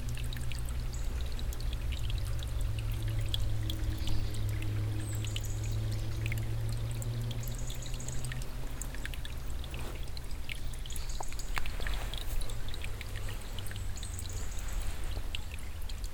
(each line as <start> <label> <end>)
0.0 small stream flowing slowly across stones 16.1
11.0 wind movements in he trees 15.6